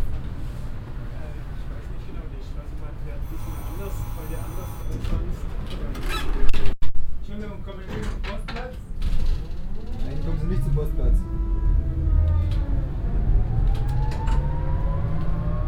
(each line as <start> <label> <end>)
3.2 tram arriving 6.4
3.2 passengers leaving 6.5
3.2 doorbell 5.5